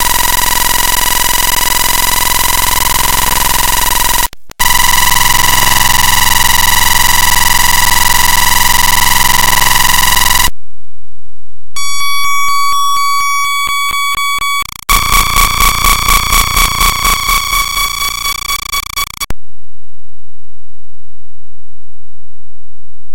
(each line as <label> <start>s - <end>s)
noise 0.0s - 10.8s
noise 11.7s - 19.5s